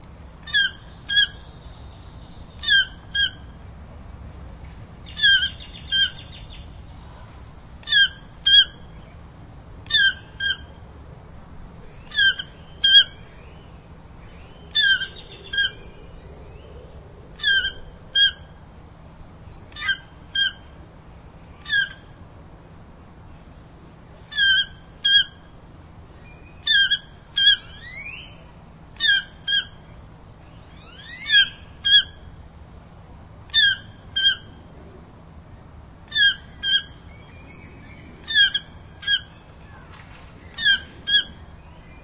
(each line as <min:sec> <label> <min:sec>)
0:00.2 other birds in the background 0:42.0
0:00.4 female Chesnut-mandibled Toucan 0:03.6
0:05.0 female Chesnut-mandibled Toucan 0:07.1
0:07.8 female Chesnut-mandibled Toucan 0:09.1
0:09.8 female Chesnut-mandibled Toucan 0:10.8
0:11.9 female Chesnut-mandibled Toucan 0:16.6
0:17.4 female Chesnut-mandibled Toucan 0:18.6
0:19.5 female Chesnut-mandibled Toucan 0:20.8
0:21.5 female Chesnut-mandibled Toucan 0:22.2
0:24.2 female Chesnut-mandibled Toucan 0:25.6
0:26.2 female Chesnut-mandibled Toucan 0:32.8
0:33.5 female Chesnut-mandibled Toucan 0:34.7
0:35.3 female Chesnut-mandibled Toucan 0:42.0